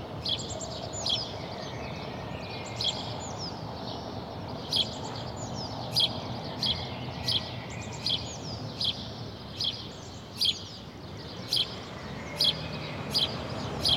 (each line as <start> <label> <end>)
0.0 noise of cars 13.9